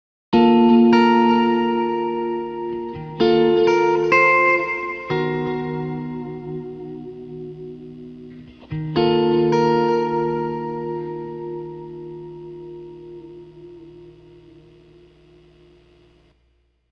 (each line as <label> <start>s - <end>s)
guitar 0.3s - 16.9s